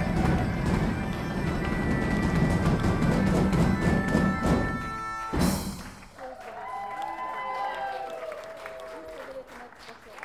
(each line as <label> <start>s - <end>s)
band playing 0.0s - 6.2s